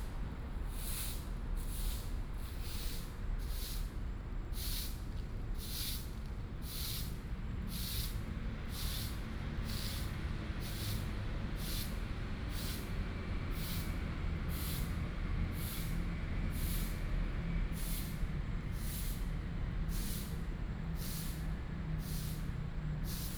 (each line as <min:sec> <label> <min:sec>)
0:07.8 Clean the leaves 0:17.2
0:19.9 Clean the leaves 0:23.3